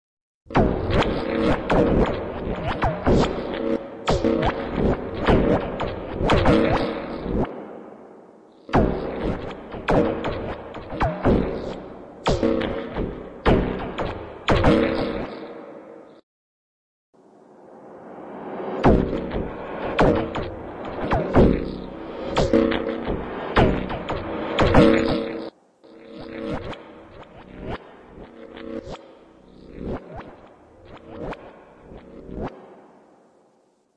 8.7s Crazed twang scenarios 15.3s

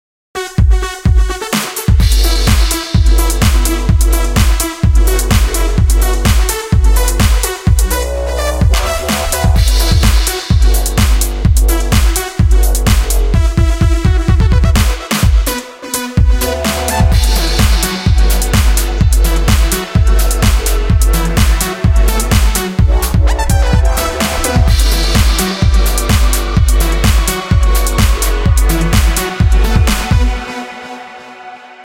0.4s bass 31.8s
0.6s perc 31.0s
1.2s synth 31.8s
1.6s snare 3.7s
8.6s hats 13.3s
8.6s kick 15.5s
8.8s snare 11.3s
12.9s snare 13.2s
16.2s hats 30.4s
16.2s strings 31.8s
17.0s kick 30.4s
24.1s snare 26.4s
28.9s snare 30.2s

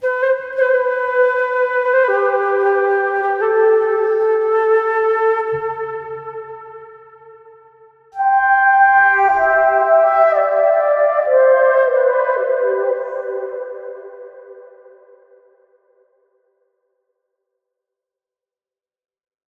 0.0s silver flute melody 15.4s

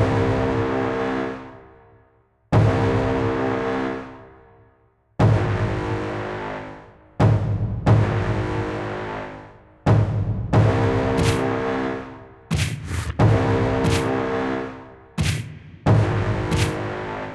12.5s storm drum percussion 14.2s

